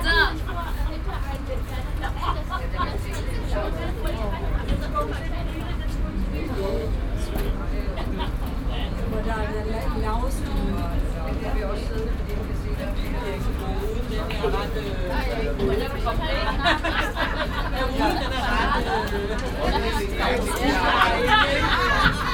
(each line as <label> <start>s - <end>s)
ape bus 0.0s - 22.3s
international visitors 0.0s - 22.3s